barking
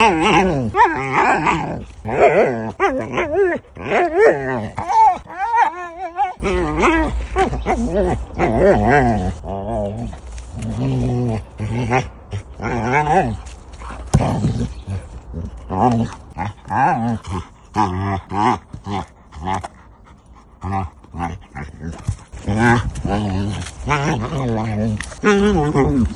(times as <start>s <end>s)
0.0s 20.1s